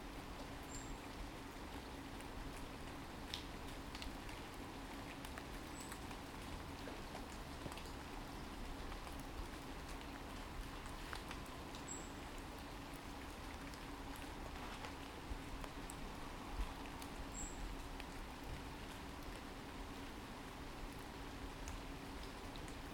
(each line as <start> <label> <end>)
0.0 Rain 22.9
0.6 quiet birdsong 1.1
11.7 quiet birdsong 12.4
17.2 quiet birdsong 17.8